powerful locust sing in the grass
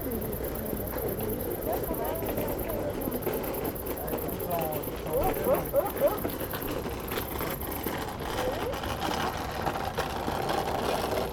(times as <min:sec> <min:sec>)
0:00.0 0:07.9